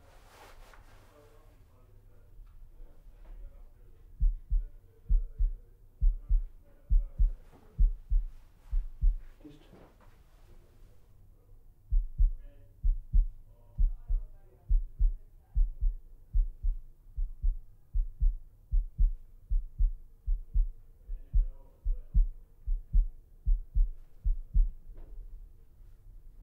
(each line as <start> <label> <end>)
4.2 beat the boom with my fingers 9.3
11.9 beat the boom with my fingers 24.8